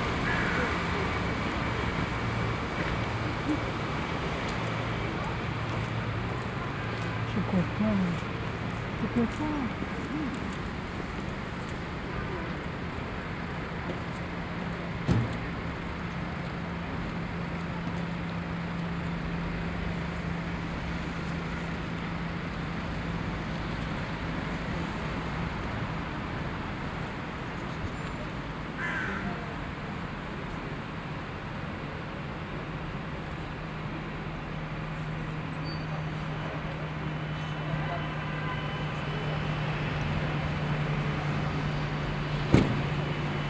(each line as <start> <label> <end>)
0.0 Cars on the avenue 43.4
0.0 people passing by 43.4
0.2 raven 1.1
28.8 raven 29.6